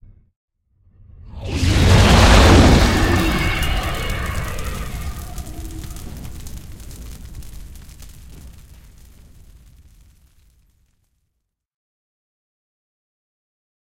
Fire Swish 0:01.3 - 0:10.8

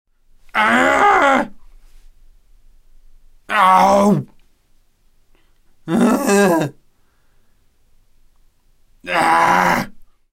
Frustrated Grunts Shouts 0:00.5 - 0:01.6
Frustrated Grunts Shouts 0:03.5 - 0:04.3
Frustrated Grunts Shouts 0:05.9 - 0:06.8
Frustrated Grunts Shouts 0:09.0 - 0:10.0

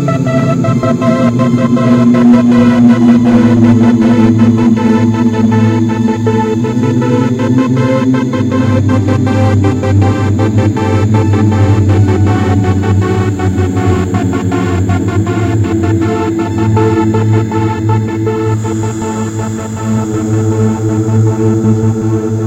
meditation music 0:00.0 - 0:22.4

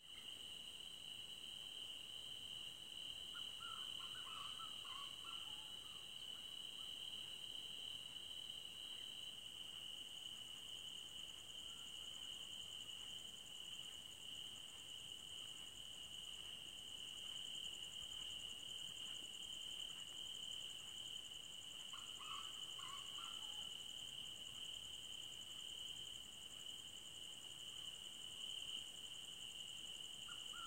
crickets 0:00.0 - 0:30.6

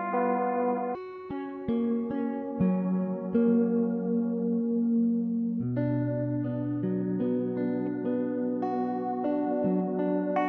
GUITAR 0:00.0 - 0:10.4

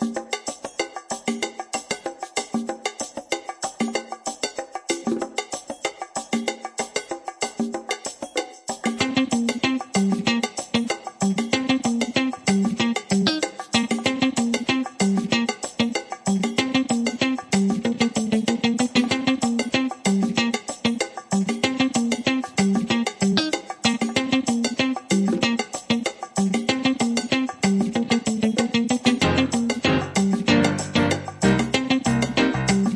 guitar 0:07.5 - 0:32.9
piano 0:29.2 - 0:32.9

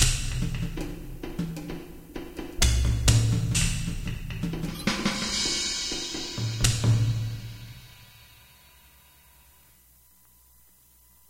bongo 0:00.0 - 0:08.6

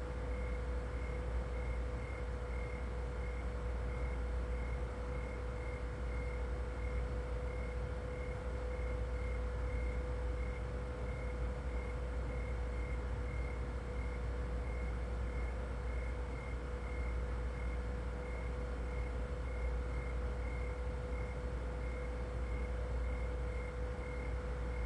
Noisy refrigerator 0:00.0 - 0:24.8
sound machine playing crickets 0:00.0 - 0:24.8

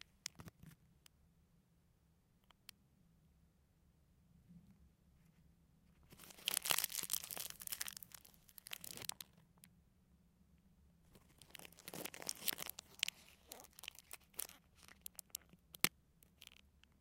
candy wrapper 0:06.1 - 0:09.4
candy wrapper 0:11.2 - 0:17.0

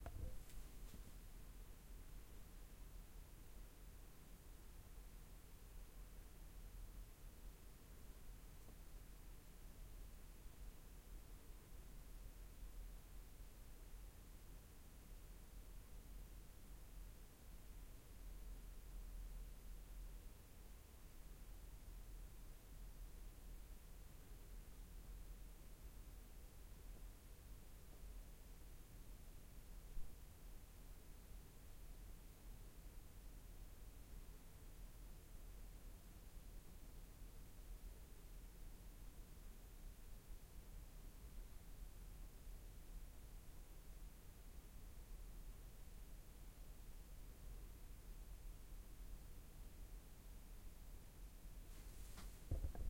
room noise 0:51.7 - 0:52.8

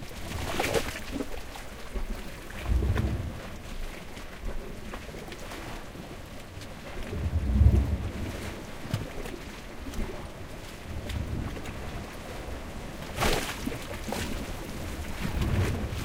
Sea (swirl) 0:00.0 - 0:16.0

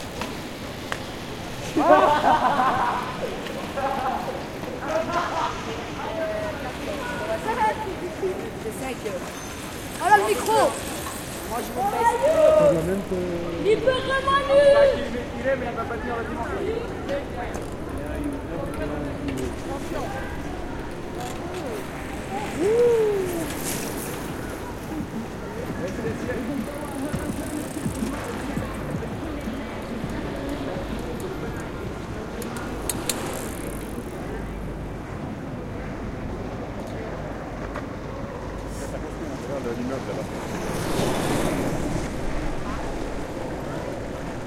people passing by on bikes 0:00.0 - 0:44.4
voices 0:00.0 - 0:44.4

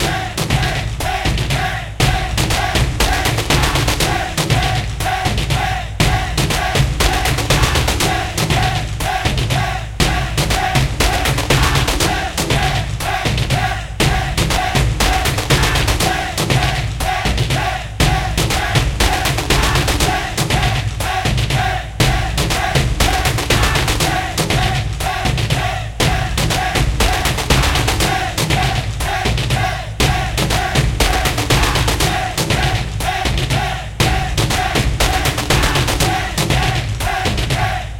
Bass 0:00.0 - 0:37.9
Kick 0:00.0 - 0:37.9
Taiko 0:00.0 - 0:37.9
Vocal 0:00.0 - 0:37.9

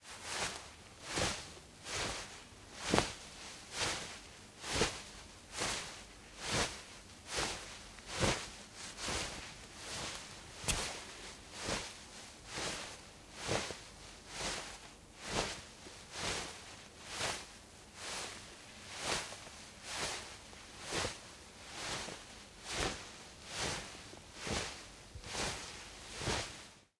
Cloth Rustle 0:00.1 - 0:26.9

